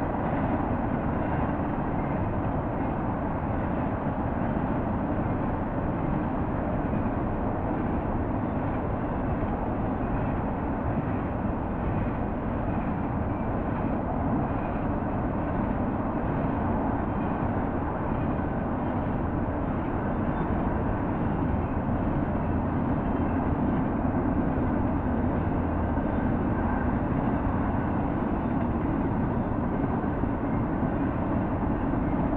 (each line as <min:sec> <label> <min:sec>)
0:00.0 freight train pass by with horn toots 0:32.3